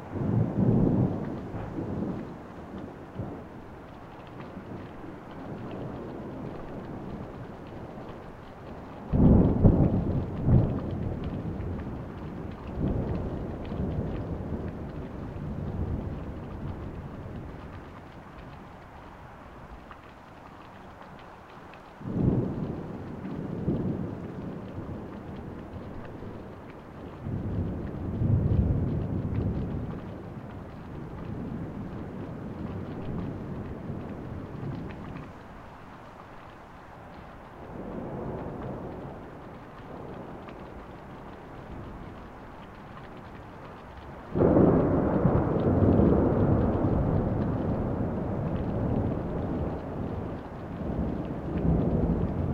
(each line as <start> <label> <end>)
0.0 rain 52.5